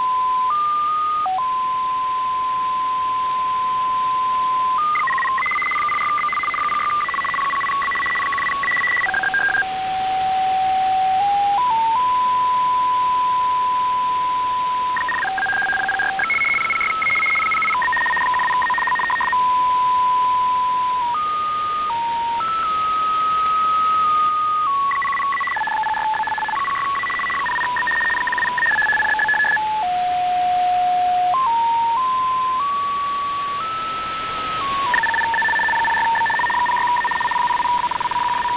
0.0s data transmission sound on shortwave radio 38.5s

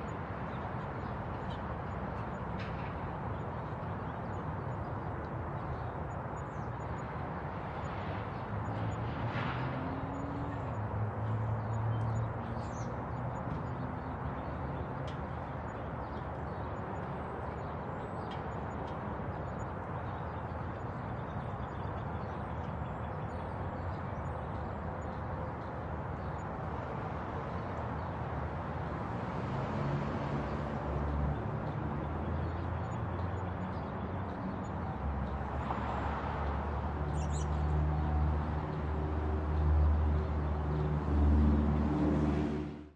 0.0s birds 41.2s
0.0s distant highway 42.9s

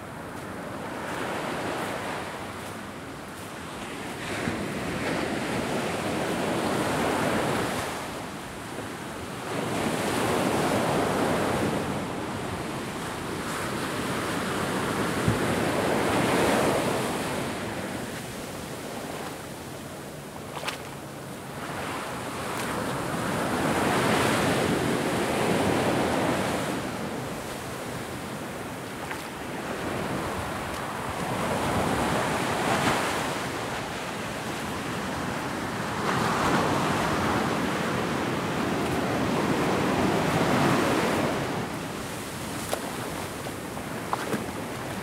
0.0s wavesandwater 45.0s

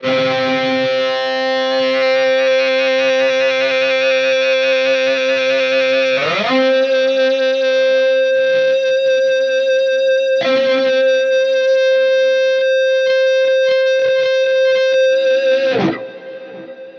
0.0s EBOW Electric Guitar Note 16.9s

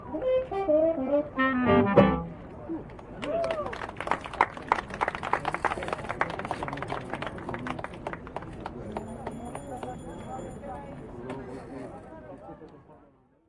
0.0s jazz song played by the buskers 2.9s
0.0s general street ambience 13.4s

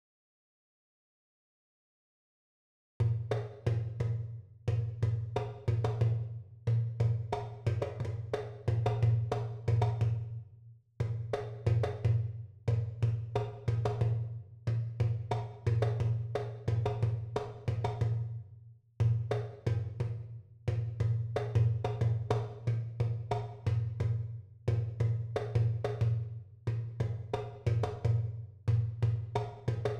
3.1s Yoruba Percussion (Batà) 10.3s
11.0s Yoruba Percussion (Batà) 18.4s
19.0s Yoruba Percussion (Batà) 29.9s

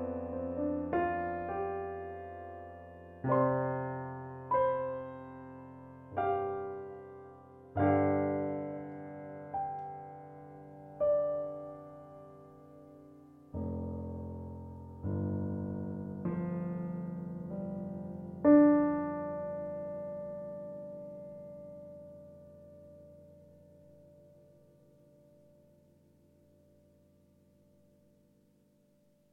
0.0s Melodic piano 28.6s

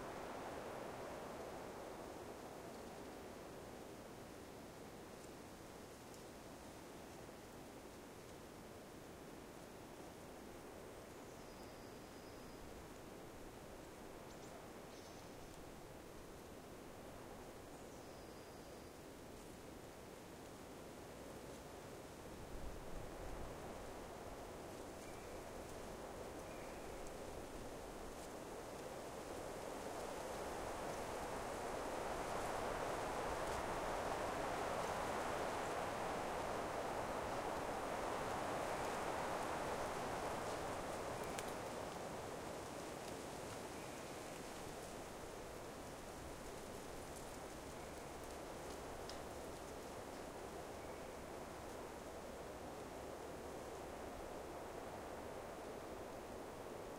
0.0s wind 56.9s

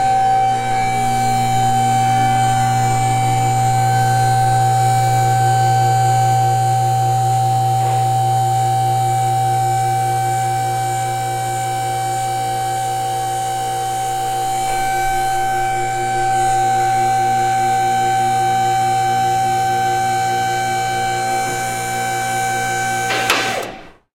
19.5s Car lift 24.1s

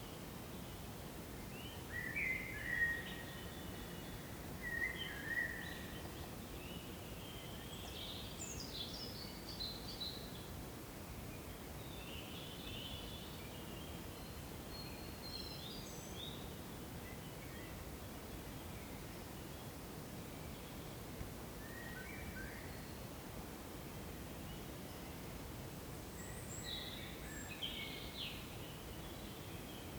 0.0s small breeze picked up 29.9s

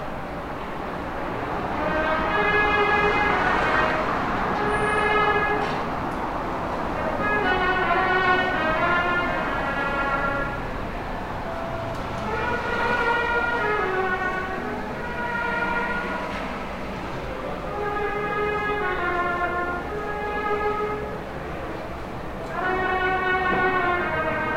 0.0s traffic 24.5s
1.7s trumpete being played by a musician 5.9s
7.0s trumpete being played by a musician 10.8s
12.2s trumpete being played by a musician 16.6s
14.6s people 24.2s
17.5s trumpete being played by a musician 21.4s
22.4s trumpete being played by a musician 24.5s

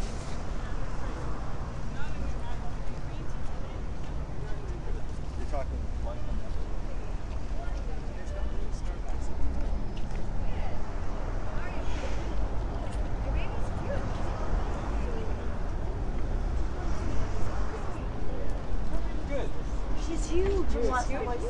0.0s traffic 21.4s
0.0s voices 21.4s

